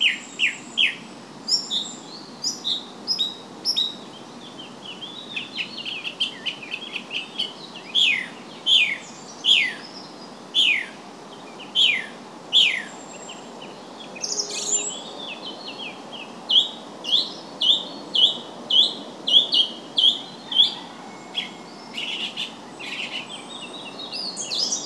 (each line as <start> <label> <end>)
0.0 birds 24.8